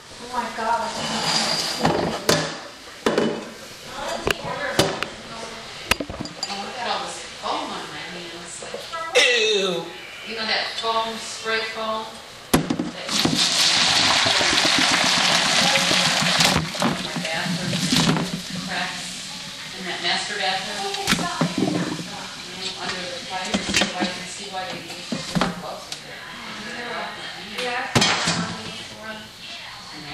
12.7s boiling pot on the stove 27.9s

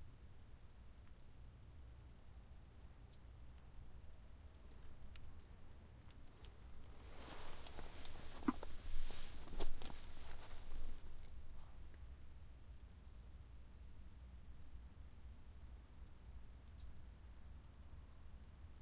0.0s cicadaes 18.8s
0.0s crickets 18.8s

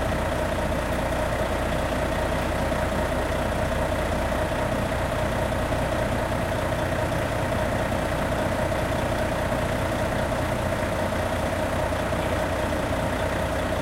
0.0s whirring trucks 13.8s

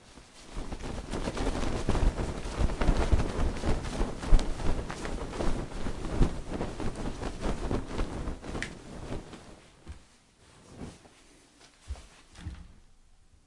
0.0s Fast Blanket Shaking 9.7s

